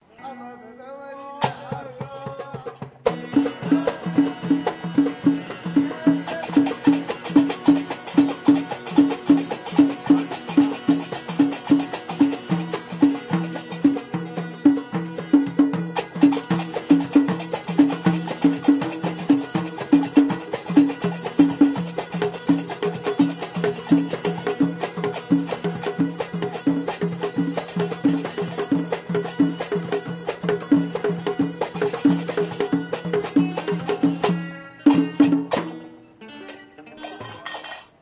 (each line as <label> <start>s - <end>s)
Young guys performing traditional songs 0.0s - 38.0s